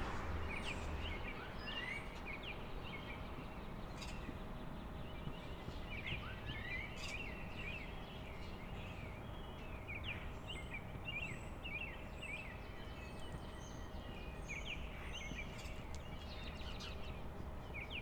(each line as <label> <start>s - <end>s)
cars and trucks coming and going 0.0s - 2.0s